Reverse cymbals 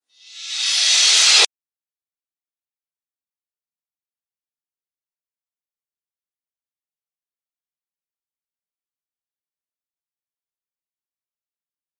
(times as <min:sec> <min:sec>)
0:00.2 0:01.5